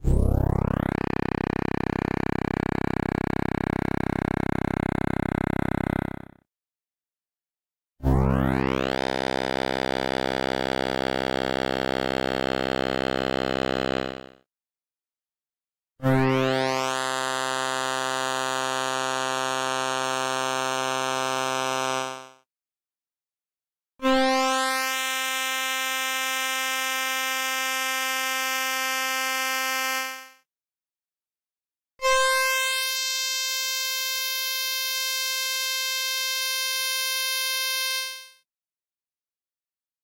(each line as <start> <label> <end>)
0.0 bass sweep sound 6.3